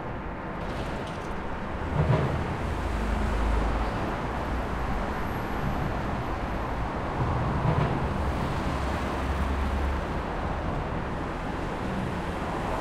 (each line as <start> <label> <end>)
0.0 cars 12.8